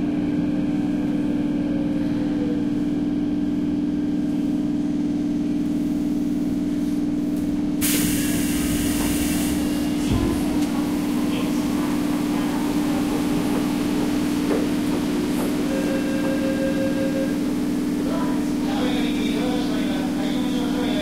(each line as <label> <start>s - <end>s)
Train Station Engines 0.0s - 21.0s
Announcements 15.4s - 21.0s
beeps 15.7s - 17.4s